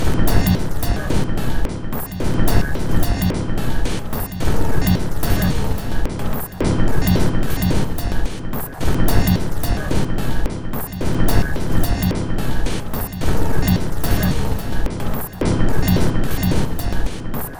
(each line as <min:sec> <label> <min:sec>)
0:00.0 Drum Loop 0:17.5